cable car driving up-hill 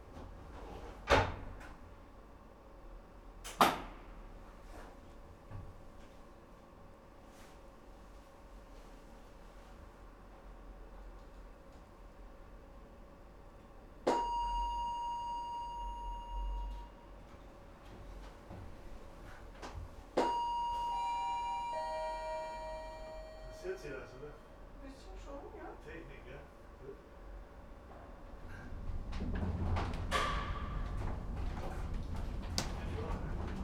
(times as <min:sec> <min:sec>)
0:27.2 0:33.6